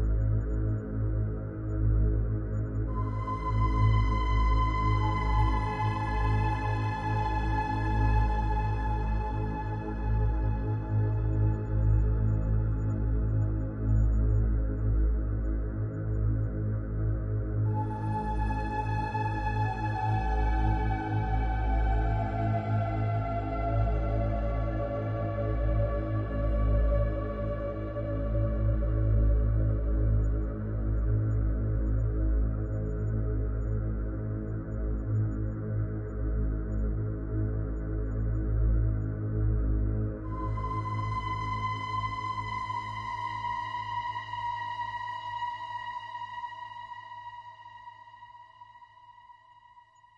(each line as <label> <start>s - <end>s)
Dark music 2.9s - 13.3s
Dark music 40.0s - 48.4s